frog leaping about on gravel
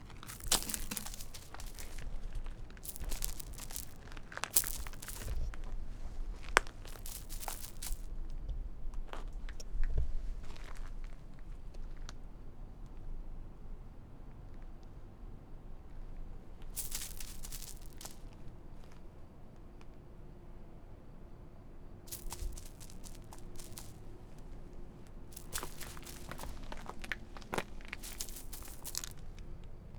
0.0 8.3, 16.7 19.0, 22.1 29.6

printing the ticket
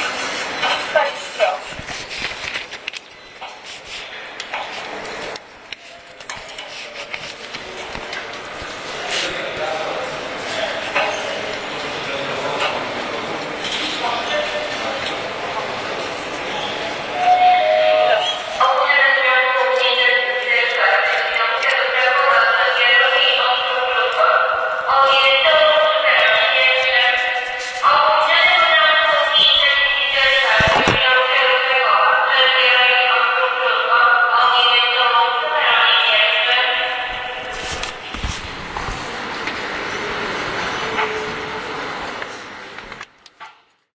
1.4 9.4

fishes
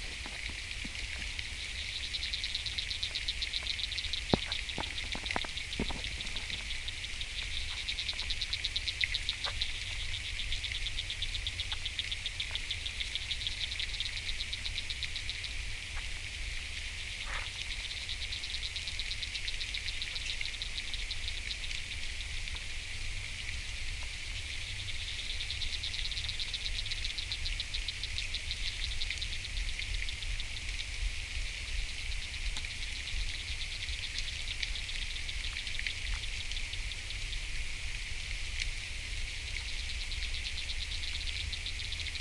0.0 22.6

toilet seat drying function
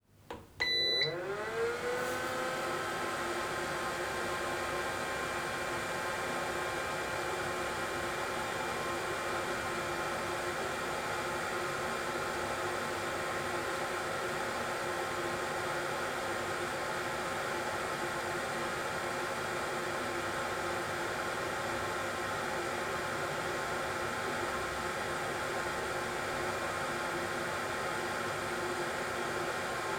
0.2 3.1

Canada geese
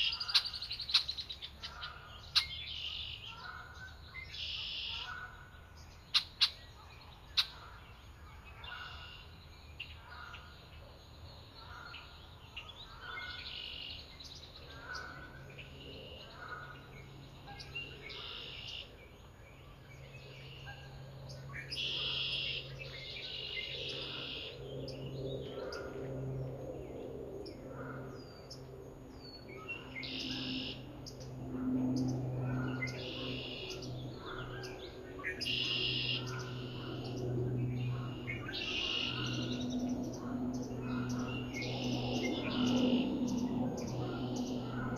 4.8 5.4

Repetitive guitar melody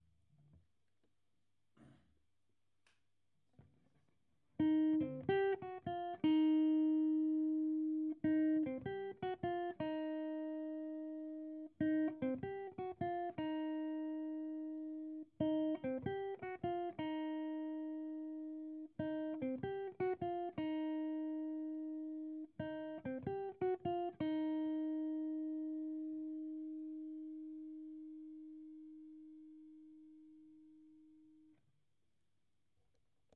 4.6 30.8

